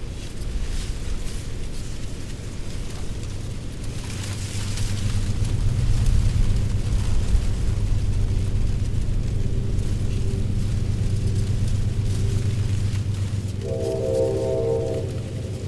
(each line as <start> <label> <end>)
0.0 dry leaves rustling in the wind 15.6
7.8 distant the Amtrak train horn 15.6